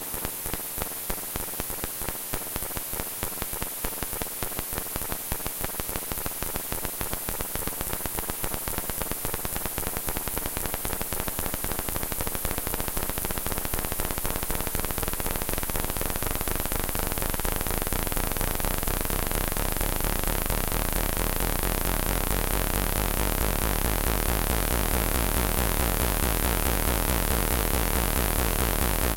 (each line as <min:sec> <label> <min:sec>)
0:19.6 Analog Synth 0:29.1